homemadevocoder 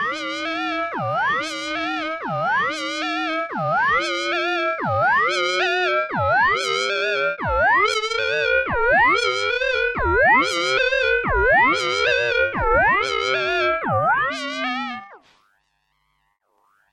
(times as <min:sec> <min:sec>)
0:07.5 0:15.0